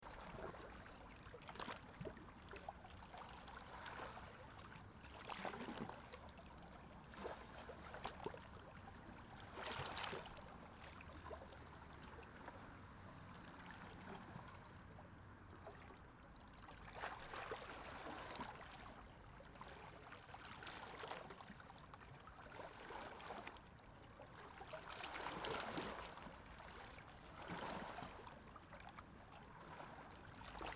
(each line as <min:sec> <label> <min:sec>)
0:00.0 waves 0:30.7